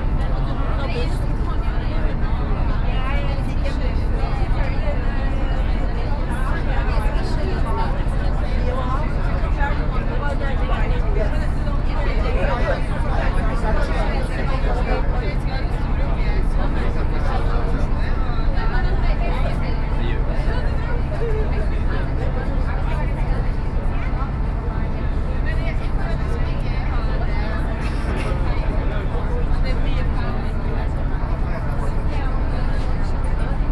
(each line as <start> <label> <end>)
0.0 boat 33.7
0.0 sea 33.7